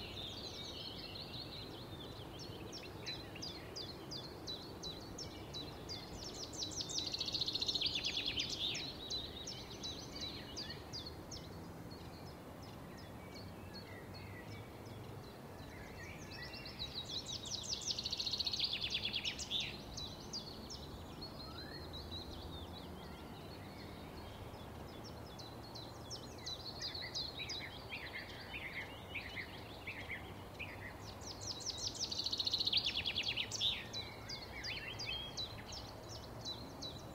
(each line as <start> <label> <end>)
0.0 bird chirp 37.1